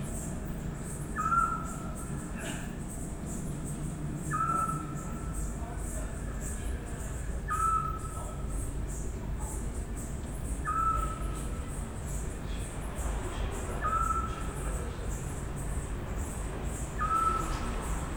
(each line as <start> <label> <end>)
1.2 owl 1.9
4.3 owl 5.2
7.5 owl 8.2
10.6 owl 11.4
13.8 owl 14.5
17.0 owl 17.6